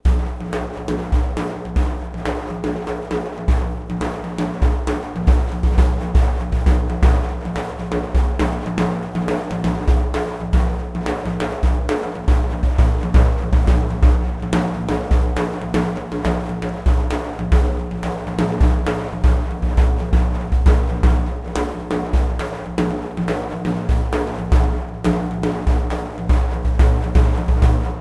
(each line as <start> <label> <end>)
0.0 fast daf rythm 28.0